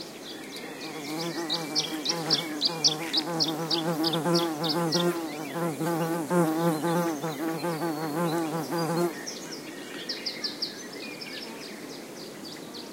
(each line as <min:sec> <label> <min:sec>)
0:00.0 bird tweets 0:12.9
0:00.8 buzzing bee 0:09.1